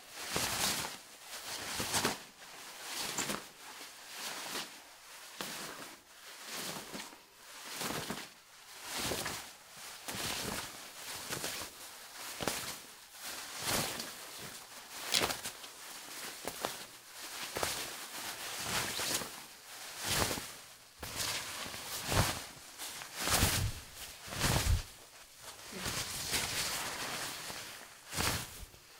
jacket that is being flapped 12.2 - 28.8

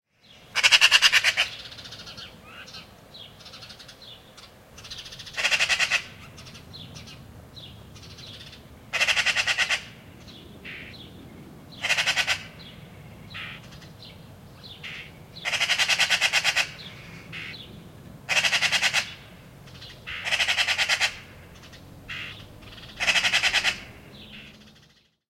small birds in the bg 0.1 - 25.2
Magpie chattering 4.8 - 7.1
Magpie chattering 8.0 - 10.0
Magpie chattering 11.8 - 12.6
Magpie chattering 13.3 - 14.0
Magpie chattering 14.8 - 17.6
Magpie chattering 18.3 - 24.6

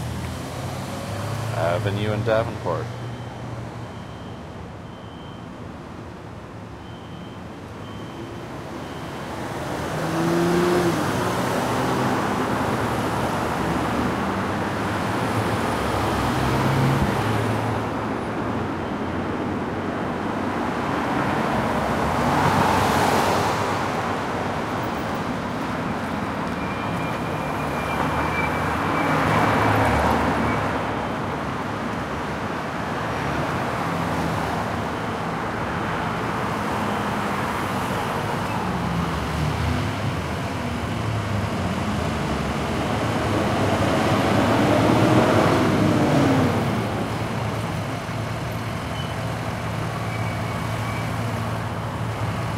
Traffic 0.0 - 52.5

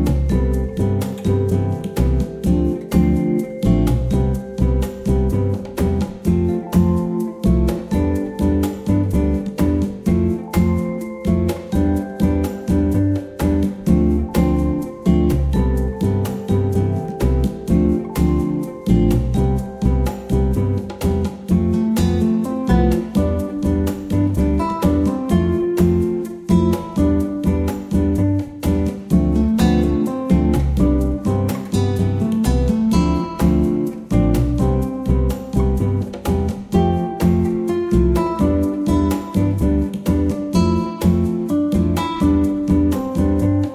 Xylophone 0.0 - 34.6
Bongos 0.0 - 43.7
Guitar 0.0 - 43.7
Shaker 0.0 - 43.7
Upright Bass 0.0 - 43.7

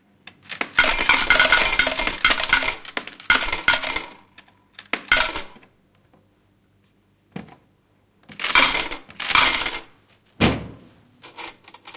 Old slot machine 0.4 - 5.7
coins fall into a metal cup 0.8 - 4.2
coins fall into a metal cup 5.0 - 5.6
Old slot machine 8.4 - 9.9
coins fall into a metal cup 8.4 - 9.9

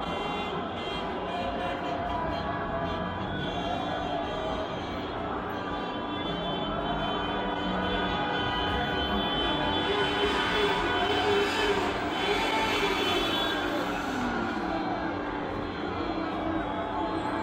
cheering 0.0 - 17.4
traffic 0.0 - 17.4

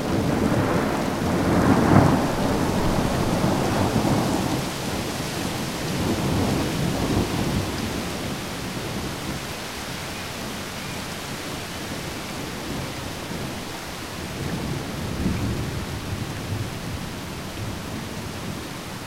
thunder 0.0 - 9.1
rain 0.0 - 19.0

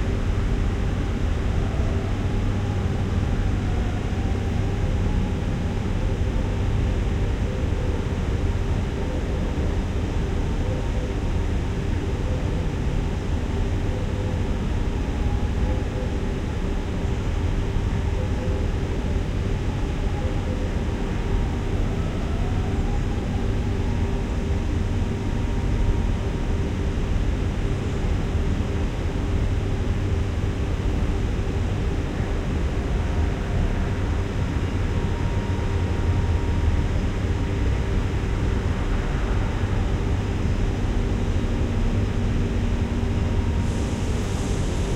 wind 0.0 - 44.9

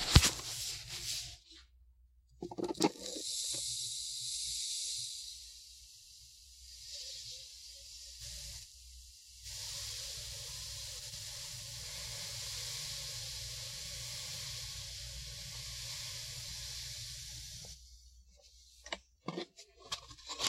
soft sand pour 3.1 - 17.8

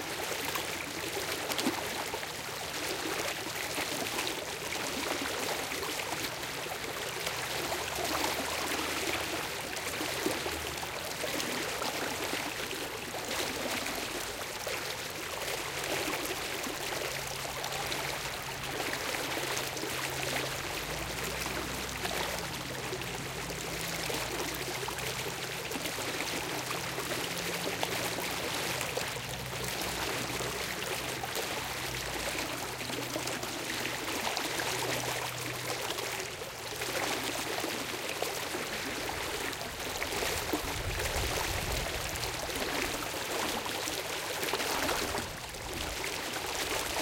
medium paced shallow river 0.0 - 47.0
little traffic in the background 0.0 - 47.0

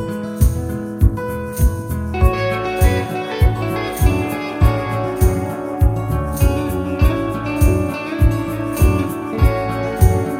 Double bass 0.0 - 10.3
Electric-guitar 0.0 - 10.3
acoustic-guitar 0.0 - 10.3
shaker 0.0 - 10.3
tambourine 0.0 - 10.3

